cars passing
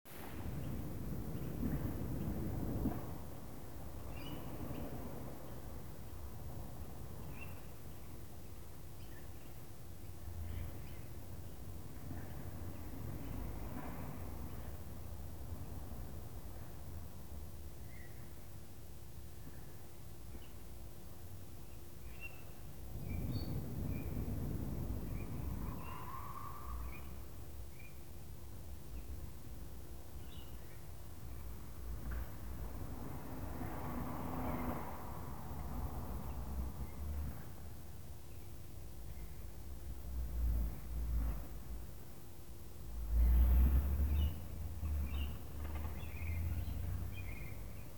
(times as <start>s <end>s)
32.6s 37.4s